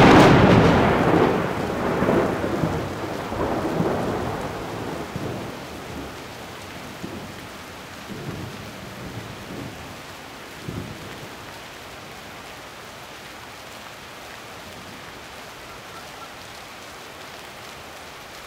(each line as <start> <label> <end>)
0.0 thunders 6.2
0.0 rain 18.4